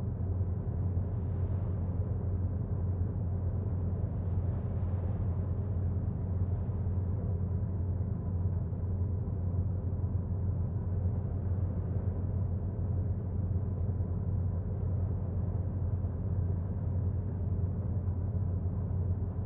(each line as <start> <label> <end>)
0.0 engine 19.4